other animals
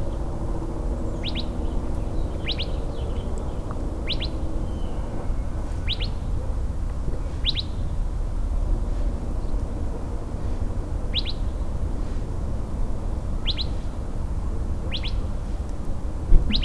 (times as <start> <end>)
16.3 16.6